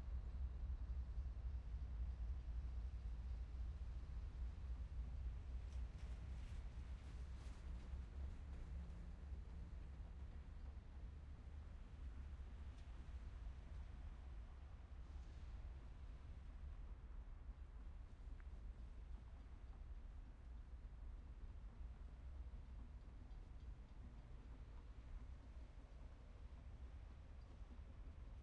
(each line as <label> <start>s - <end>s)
long freight train 0.0s - 28.4s